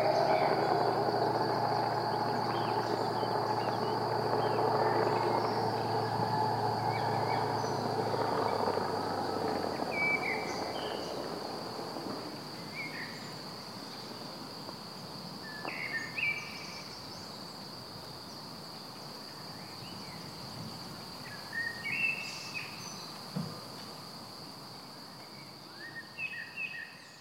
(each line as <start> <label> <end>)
0.0 winch launch 11.4